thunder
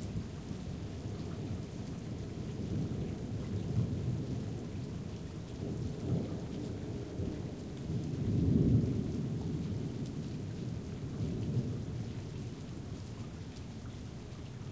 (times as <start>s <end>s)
5.6s 12.2s